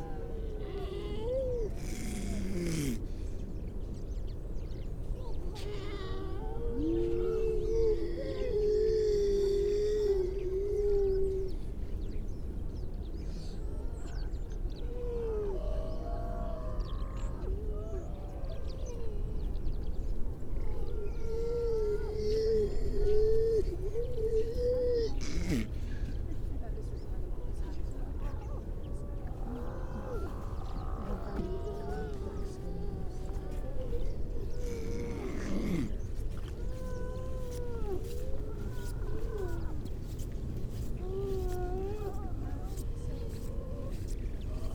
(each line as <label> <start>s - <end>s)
grey seals 0.0s - 4.1s
grey seals 5.0s - 44.7s